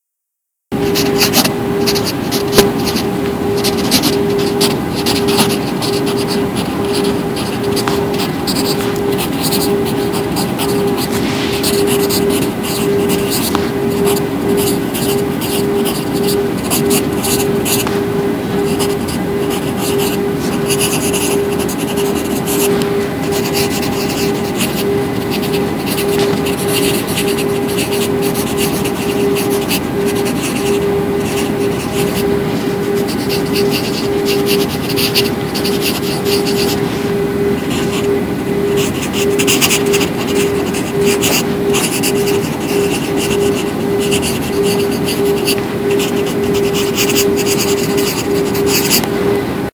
Writing with pencil 0:00.8 - 0:49.1

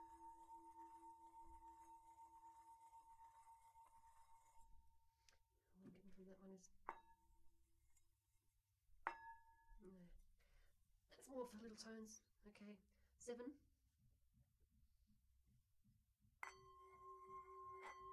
Tibetan bowls, single rim plays 0:00.0 - 0:04.8
Tibetan bowls, single rim plays 0:16.4 - 0:18.1

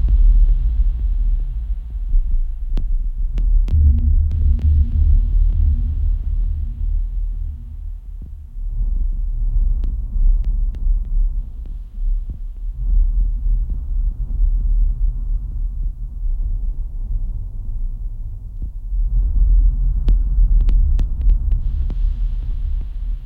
bass 0:00.0 - 0:23.2

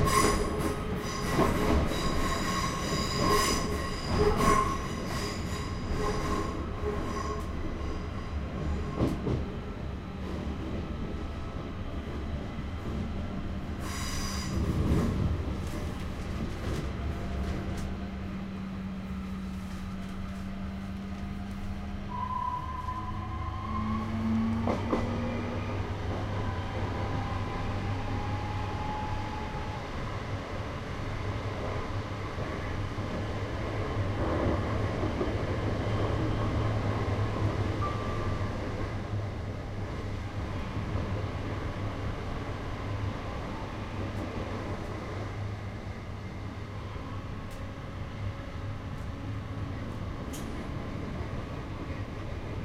commuter train 0:00.0 - 0:52.6

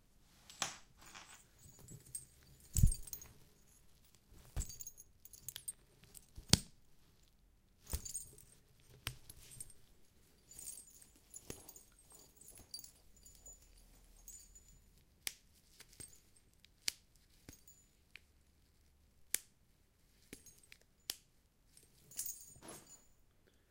handbag with jangling balls 0:00.9 - 0:06.6
handbag with jangling balls 0:07.8 - 0:15.2
handbag with jangling balls 0:17.3 - 0:18.1
handbag with jangling balls 0:21.7 - 0:23.3

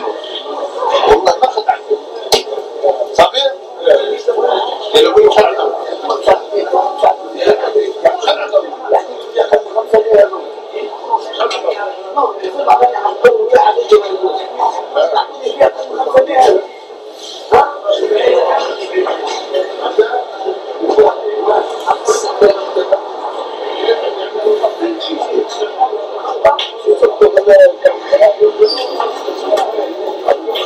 people 0:00.0 - 0:30.6

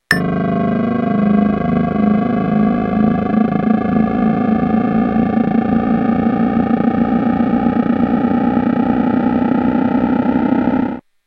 casio sk-1 effect 0:00.0 - 0:11.0

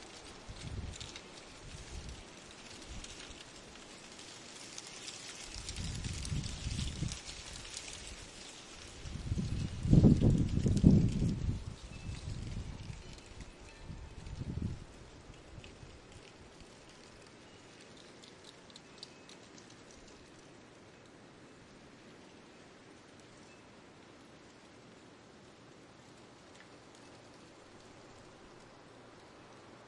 leaves rushing across asphalt 0:00.0 - 0:29.8
wind 0:00.0 - 0:29.8
wind-chimes 0:10.5 - 0:15.0
wind-chimes 0:17.1 - 0:20.4
wind-chimes 0:23.4 - 0:24.0

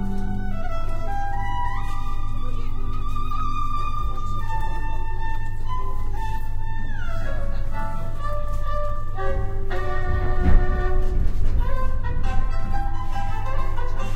Street musician plays violin 0:00.0 - 0:14.1
riding suburban train 0:09.2 - 0:12.8

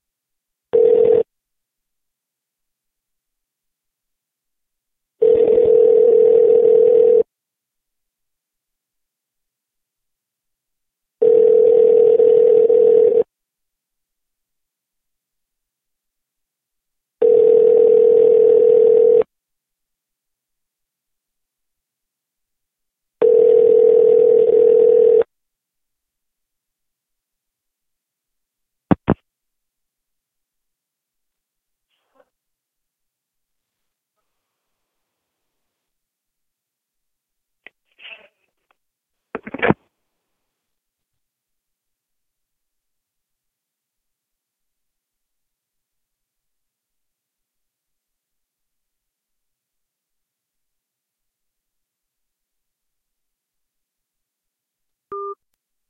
Phone rings 0:00.7 - 0:01.3
Phone rings 0:05.2 - 0:07.3
Phone rings 0:11.2 - 0:13.3
Phone rings 0:17.2 - 0:19.3
Phone rings 0:23.2 - 0:25.3

